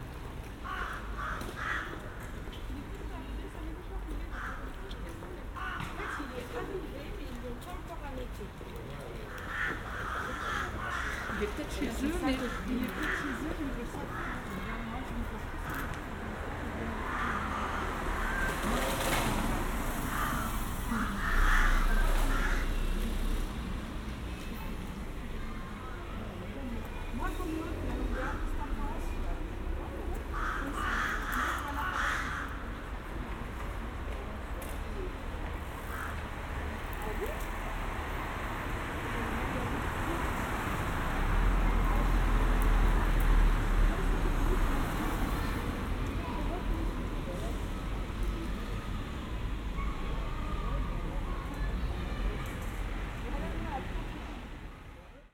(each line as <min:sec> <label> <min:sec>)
0:00.6 ravens 0:02.2
0:09.2 ravens 0:11.8
0:12.4 ravens 0:14.6
0:16.8 ravens 0:22.8
0:30.2 ravens 0:32.8
0:35.7 ravens 0:36.4